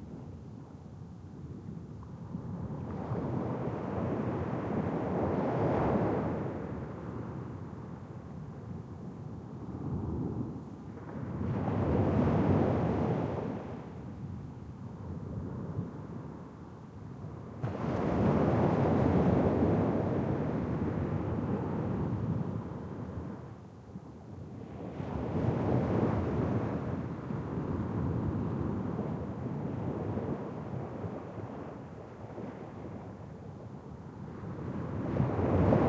Waves breaking on a sandy beach 0:02.2 - 0:08.7
Waves breaking on a sandy beach 0:17.2 - 0:23.6
Waves breaking on a sandy beach 0:24.4 - 0:35.8

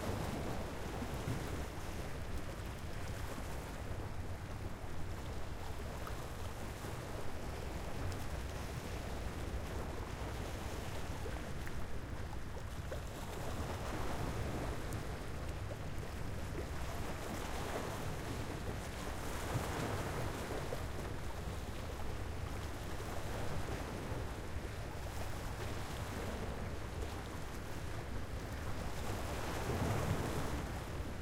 waves 0:00.0 - 0:31.2

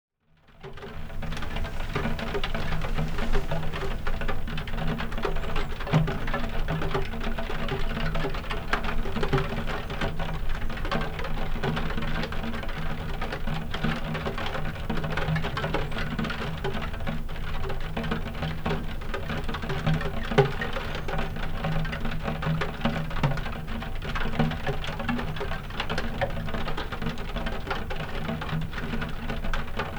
rain on a skylight-window 0:00.7 - 0:29.9

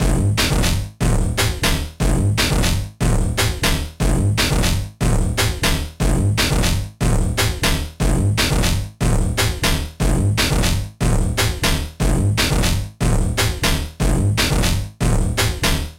computer beat 0:00.0 - 0:15.9

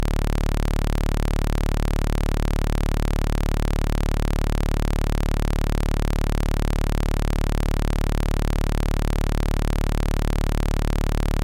sawtooth output 0:00.0 - 0:11.4

